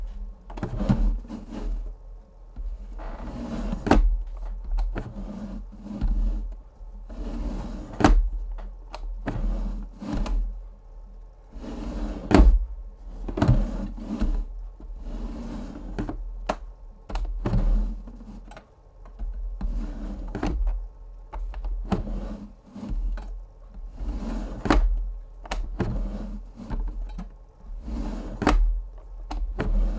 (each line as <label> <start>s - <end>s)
cooler opening and closing 2.6s - 5.2s
cooler opening and closing 12.2s - 14.5s
cooler opening and closing 22.8s - 29.9s